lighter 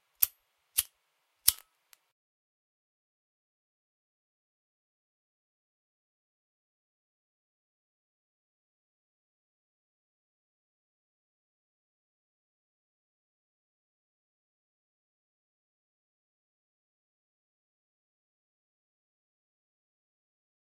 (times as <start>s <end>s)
0.1s 2.0s